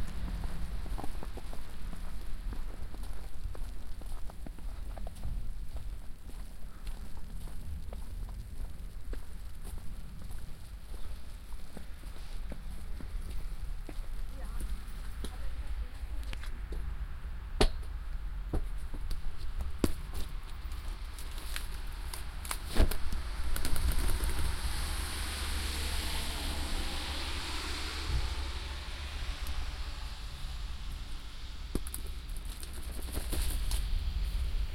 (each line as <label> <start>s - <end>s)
walking through falling snow 0.0s - 16.9s
walking through falling snow 18.7s - 34.7s
falling snow 19.4s - 34.7s